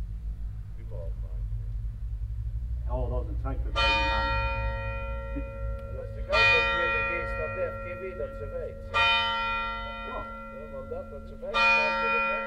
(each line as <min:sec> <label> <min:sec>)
0:03.7 church bells start to ring 0:12.4
0:03.7 ringing the bell at the house 0:12.4